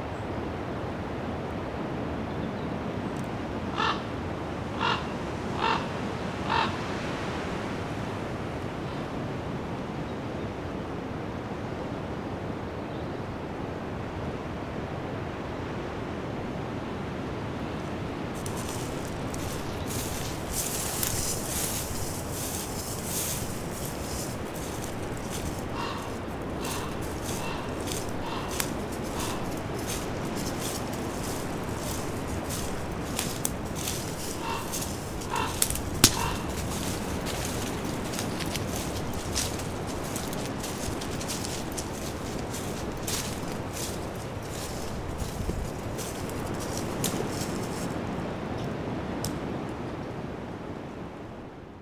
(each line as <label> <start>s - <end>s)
recording a Raven 3.7s - 6.8s
recording a Raven 18.4s - 48.2s